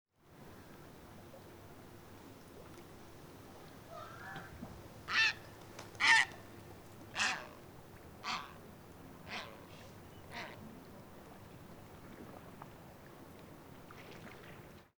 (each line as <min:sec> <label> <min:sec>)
0:03.5 Heron 0:11.4